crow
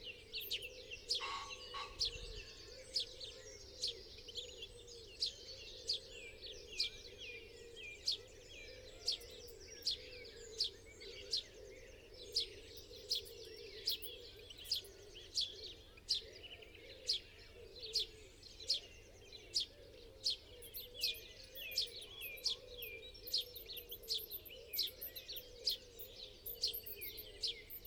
1.1s 3.6s

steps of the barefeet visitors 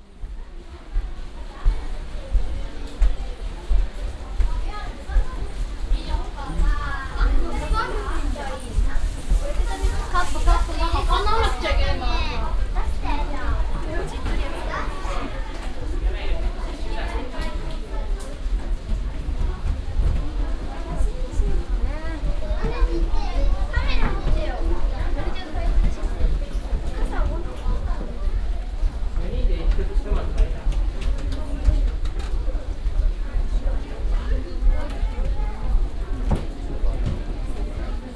0.1s 15.0s

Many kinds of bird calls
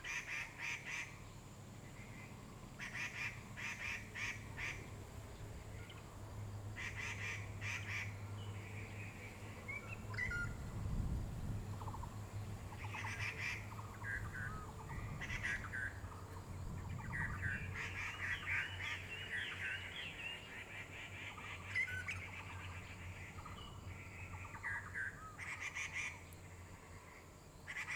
6.8s 10.6s, 11.8s 27.9s

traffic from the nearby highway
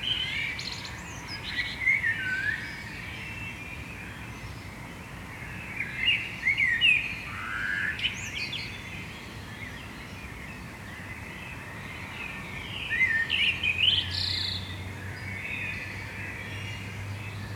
13.3s 17.5s

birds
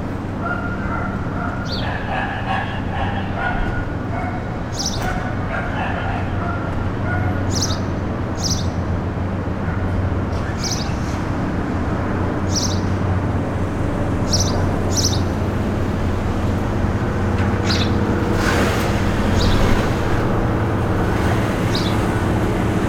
0.4s 8.8s, 10.3s 11.2s, 12.5s 13.0s, 14.2s 15.4s, 17.6s 18.0s, 19.2s 19.9s

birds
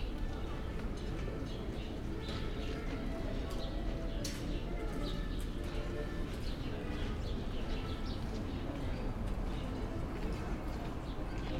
1.0s 9.9s

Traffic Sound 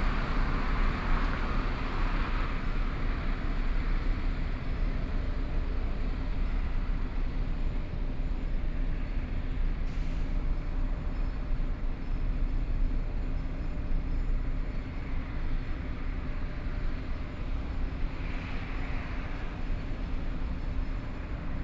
11.7s 21.6s

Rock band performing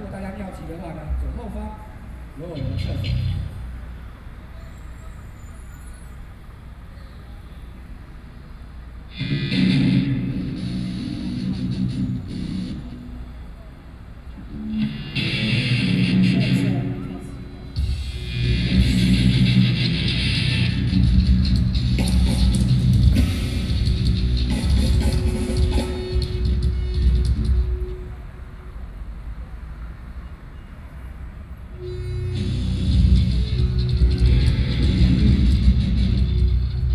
9.1s 13.0s, 14.4s 27.9s, 31.9s 36.9s

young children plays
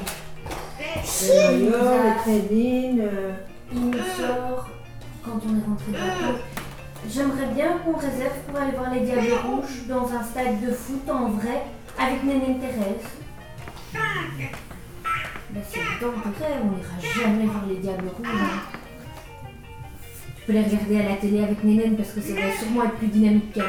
0.0s 10.0s, 12.3s 19.4s, 22.2s 23.6s

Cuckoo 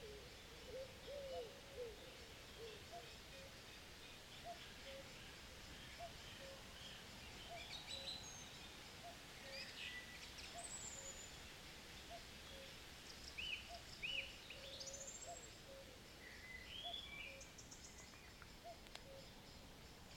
0.0s 3.7s, 4.4s 5.2s, 5.9s 6.8s, 7.5s 8.3s, 13.6s 16.0s, 16.8s 19.6s

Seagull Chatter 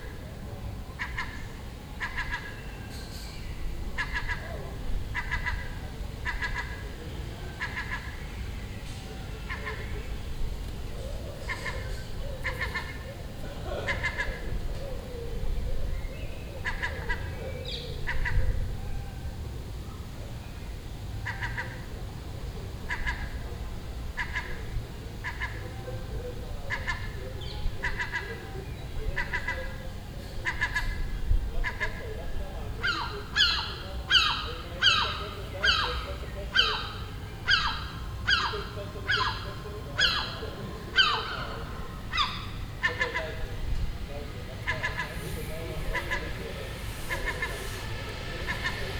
32.8s 48.9s

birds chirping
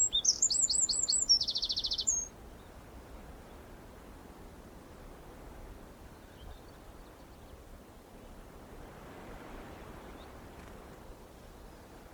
0.0s 2.3s

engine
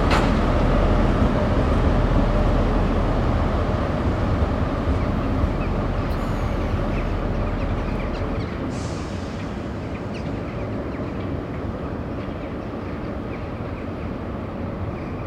0.0s 11.0s

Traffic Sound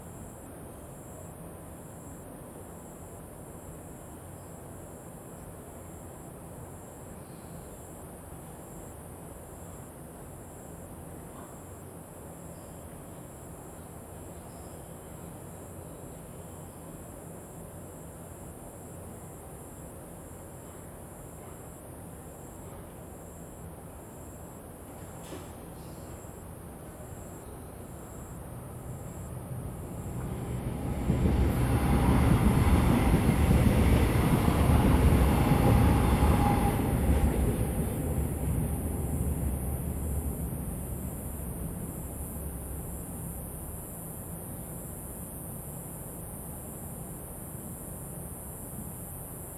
27.7s 44.4s

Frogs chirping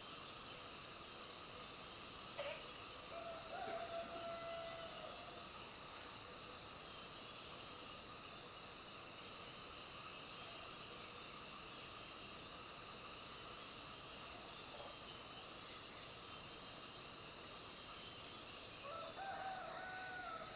9.4s 20.5s

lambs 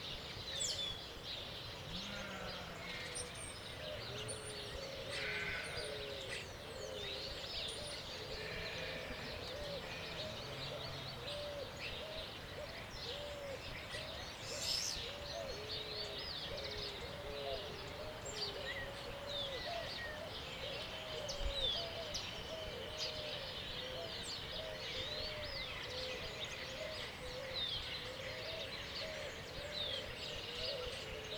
5.2s 5.8s

